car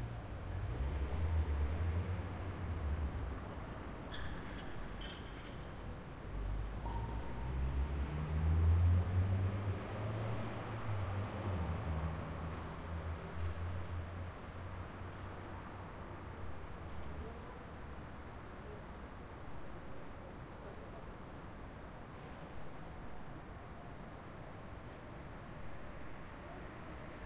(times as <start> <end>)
0.0 19.2